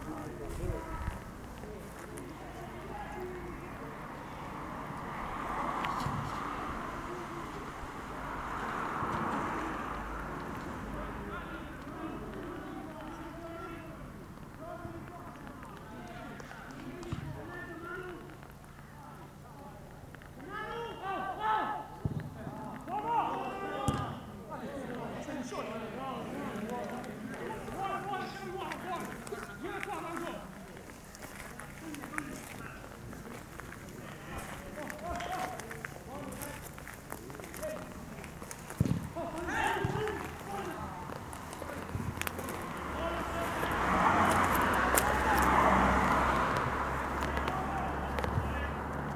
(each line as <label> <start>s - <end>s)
football match 0.0s - 49.1s
Drops of rain from the tennis camp marquee 4.8s - 20.7s
Drops of rain from the tennis camp marquee 26.5s - 49.1s